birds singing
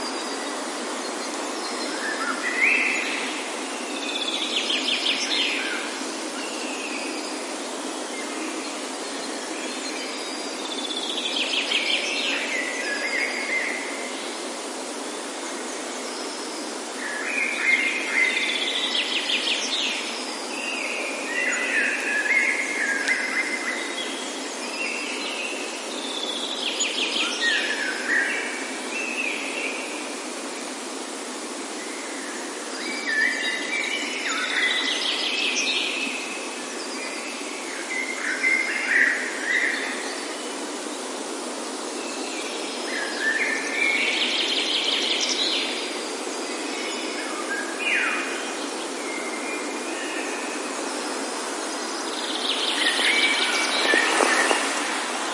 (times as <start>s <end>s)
31.8s 55.3s